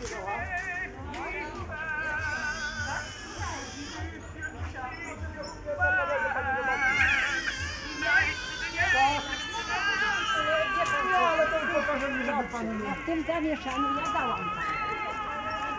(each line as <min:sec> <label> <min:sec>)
0:00.0 background singing 0:03.0
0:00.0 people 0:15.7